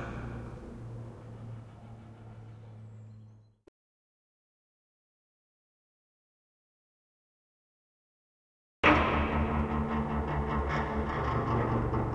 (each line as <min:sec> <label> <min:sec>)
0:00.0 screeching 0:03.6
0:00.0 reverberent clanging 0:03.6
0:08.9 mellow sounds that sound more like a bowed string 0:12.1